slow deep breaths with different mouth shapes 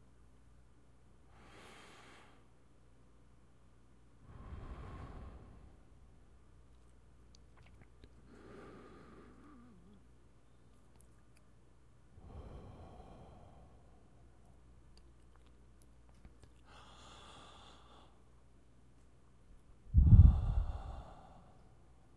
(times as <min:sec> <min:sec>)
0:01.2 0:02.7, 0:04.2 0:06.8, 0:07.4 0:11.1, 0:12.0 0:15.5, 0:16.4 0:18.4, 0:19.8 0:22.1